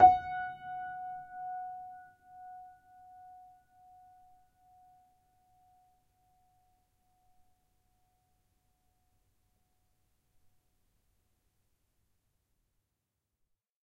upright choiseul piano 0:00.0 - 0:01.9

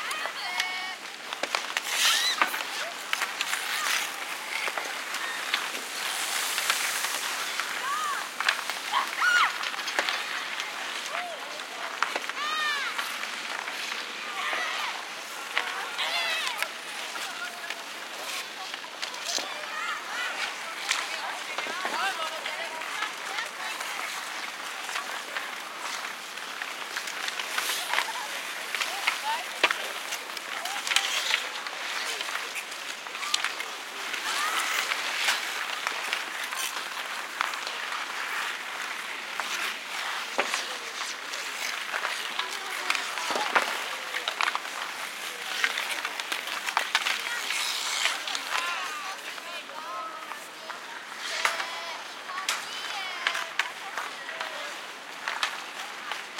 skating 0:00.0 - 0:56.3

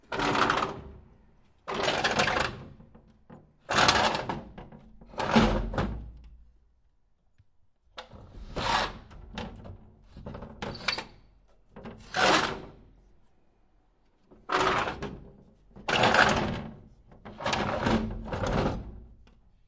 window metal heavy slide open close creak 0:08.2 - 0:09.2
window metal heavy slide open close creak 0:10.6 - 0:11.2

